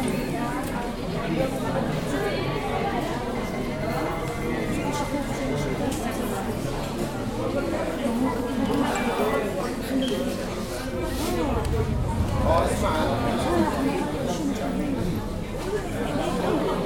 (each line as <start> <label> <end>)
0.0 Murmur, Arabic 16.8